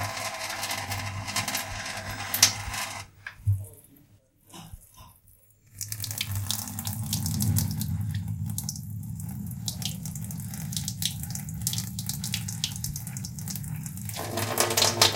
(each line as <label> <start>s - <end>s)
water 4.5s - 15.1s